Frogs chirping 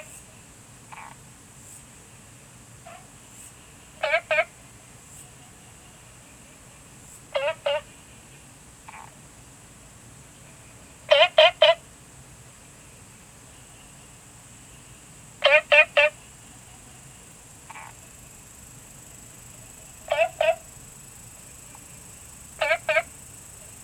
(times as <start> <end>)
13.8 23.8